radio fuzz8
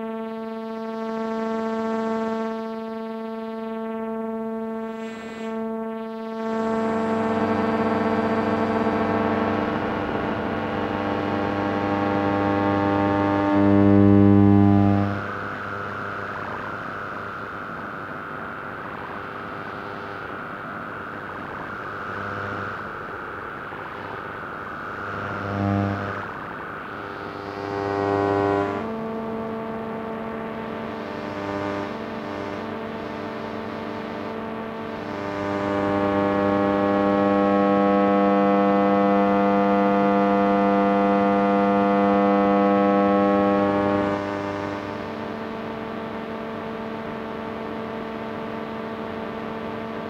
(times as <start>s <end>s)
6.3s 40.2s